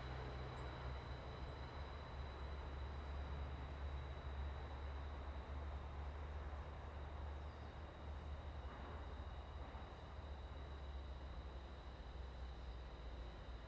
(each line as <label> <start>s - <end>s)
wind 0.0s - 13.6s